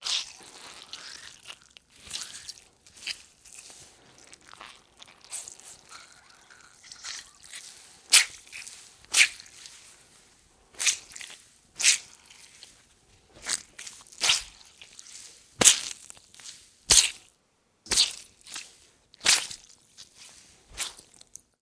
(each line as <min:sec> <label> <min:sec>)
0:00.0 squishing sounds 0:21.6